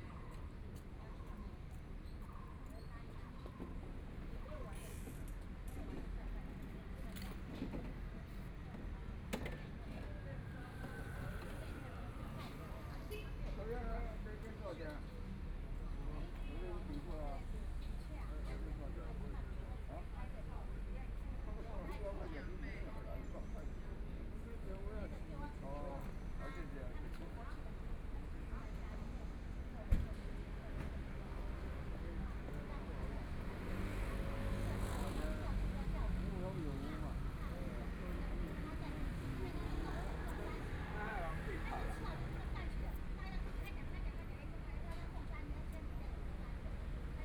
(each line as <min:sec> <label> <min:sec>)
0:02.3 group of people chatting 0:47.2
0:25.5 Traffic Sound 0:47.2